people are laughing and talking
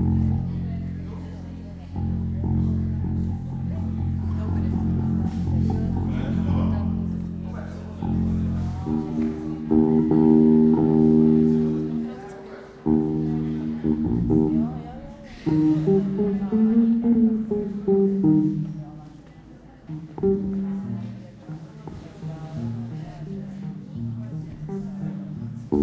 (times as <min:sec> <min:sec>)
0:03.7 0:09.7